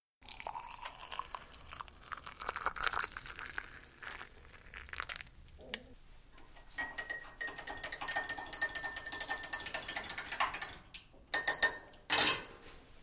hot drink being poured and stirred 0:00.2 - 0:11.8

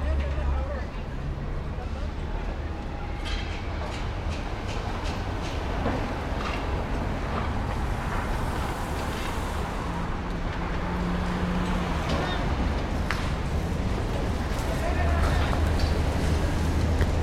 traffic 0:00.0 - 0:17.2
people 0:14.5 - 0:16.9

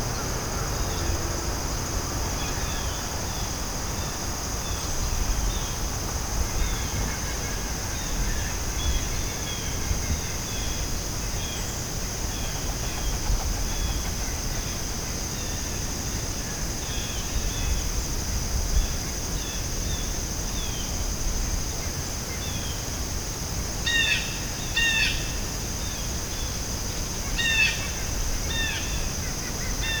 insects 0:00.0 - 0:30.0

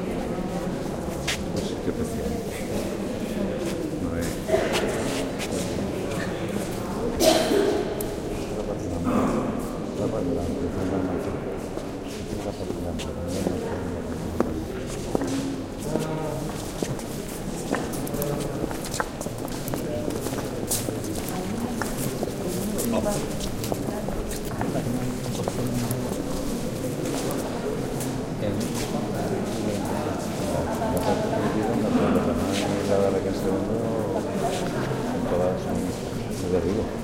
talk 0:00.0 - 0:37.0

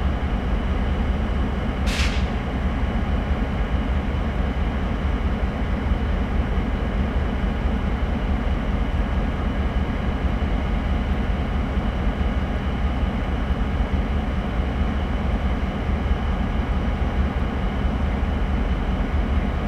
three linked diesel locomotives idling 0:00.0 - 0:19.6
compressed air 0:01.9 - 0:02.3

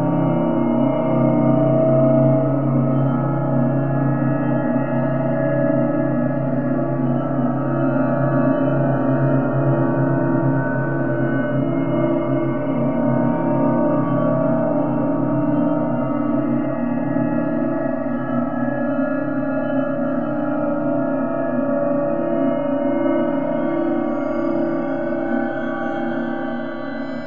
evolving, resonant drone 0:00.0 - 0:27.2

